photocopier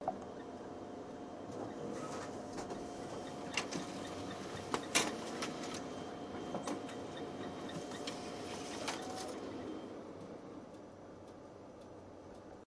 1.4 9.9

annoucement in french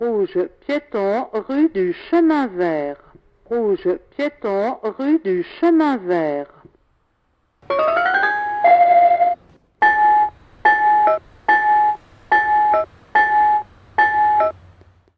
0.0 6.8

